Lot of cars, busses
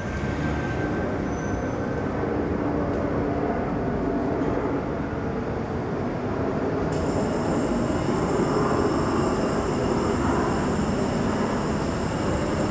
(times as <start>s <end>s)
0.0s 7.0s